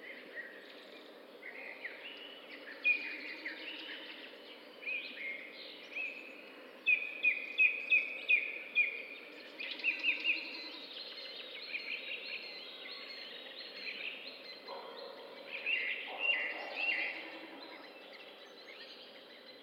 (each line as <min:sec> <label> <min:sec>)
0:00.0 birds 0:19.6
0:14.6 distant dogs 0:18.4